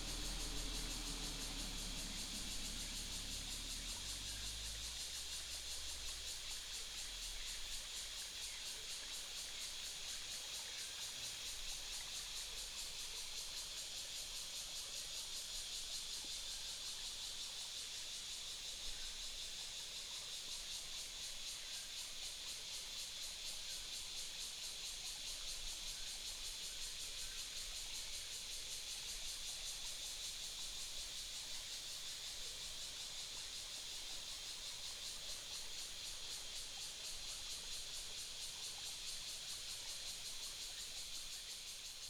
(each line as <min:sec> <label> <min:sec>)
0:00.0 Cicadas call 0:42.0
0:00.0 stream 0:42.0